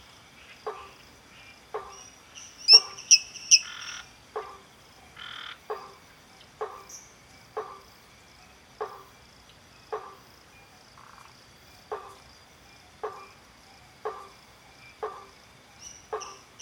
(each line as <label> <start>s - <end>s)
Toads 0.4s - 7.9s
Toads 14.0s - 16.6s